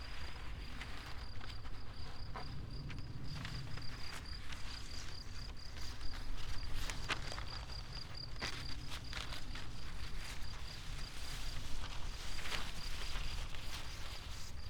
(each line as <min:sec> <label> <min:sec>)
0:00.0 wind through paper and grass ears 0:14.6
0:00.0 crickets 0:14.6
0:08.4 walk with two long strips of thin paper 0:14.6